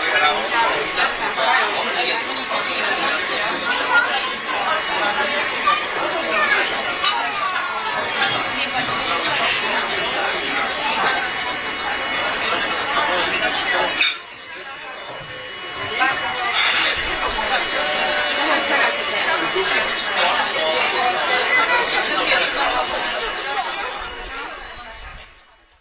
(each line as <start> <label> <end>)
0.0 voices 25.8